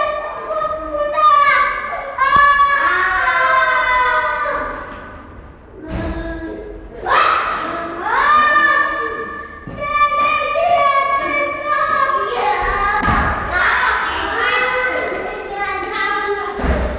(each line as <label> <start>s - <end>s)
voices and steps of pupils and teachers 0.0s - 16.9s